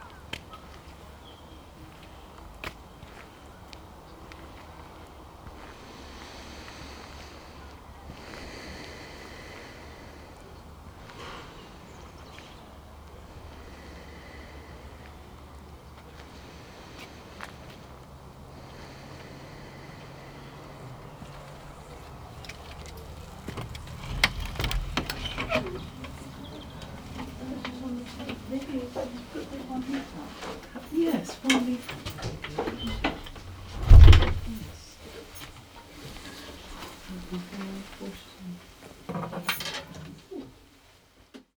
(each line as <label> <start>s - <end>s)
Wind noise 32.0s - 34.8s